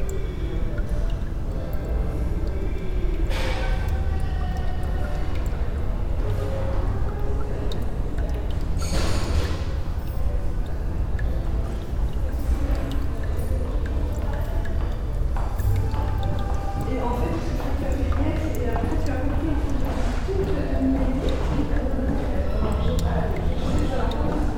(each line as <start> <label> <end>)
0.0 dripping tap 24.5